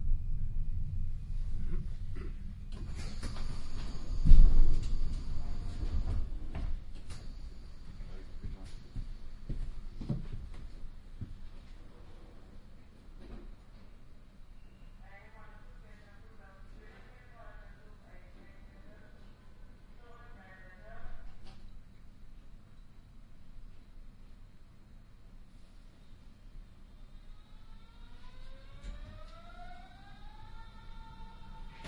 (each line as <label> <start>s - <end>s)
S-Bahn, an urban railway 0.0s - 31.8s